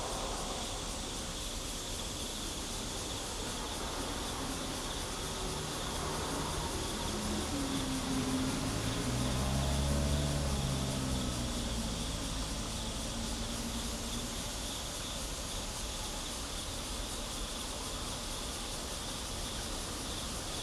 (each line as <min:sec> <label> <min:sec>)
0:00.0 The train passes by 0:18.2
0:00.0 Cicadas 0:20.6
0:03.4 Traffic sound 0:15.2